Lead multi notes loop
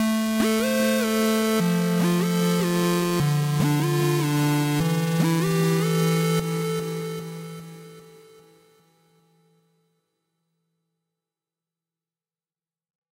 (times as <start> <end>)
0.4 7.9